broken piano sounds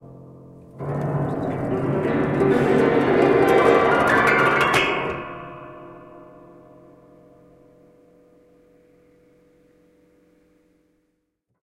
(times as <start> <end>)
0.0 7.8